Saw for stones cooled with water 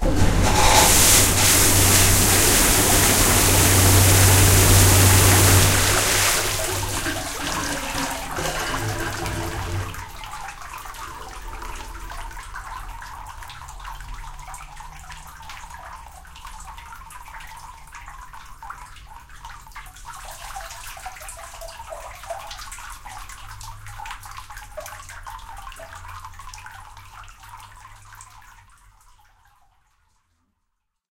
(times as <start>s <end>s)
0.0s 10.1s